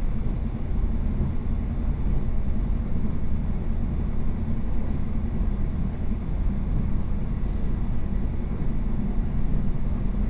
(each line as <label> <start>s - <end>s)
Local Train 0.0s - 10.2s